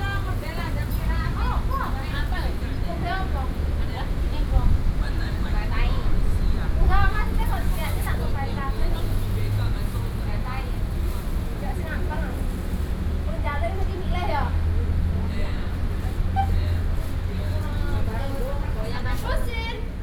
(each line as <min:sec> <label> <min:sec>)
0:00.0 chat between foreign workers and the elderly 0:20.0